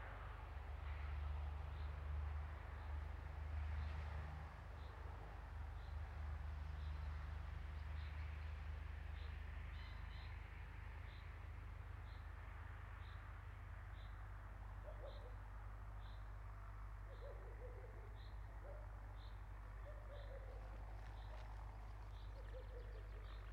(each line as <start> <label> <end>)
0.0 Tractor 16.8
17.1 birds 23.5